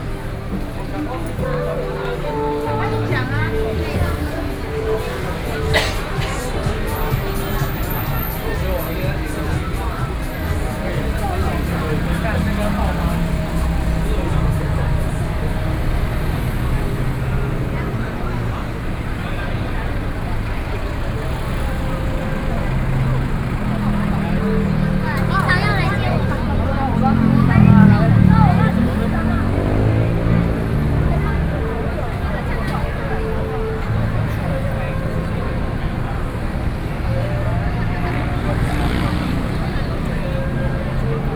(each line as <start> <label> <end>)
0.0 The crowd 41.3